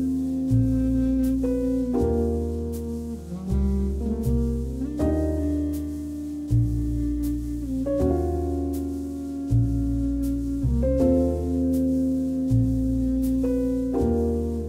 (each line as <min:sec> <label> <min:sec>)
0:00.0 Bass 0:14.6
0:00.0 Brass 0:14.6